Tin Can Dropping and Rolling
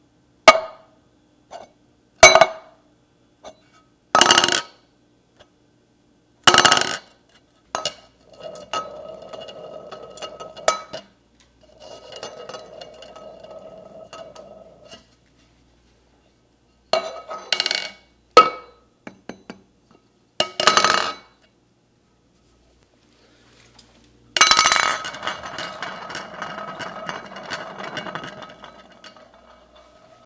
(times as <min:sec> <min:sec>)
0:24.4 0:30.2